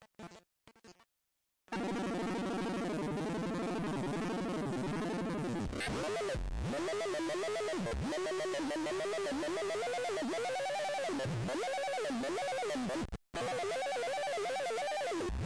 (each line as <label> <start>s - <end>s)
circuit board instrument in the shape of an audio cassette 1.7s - 15.4s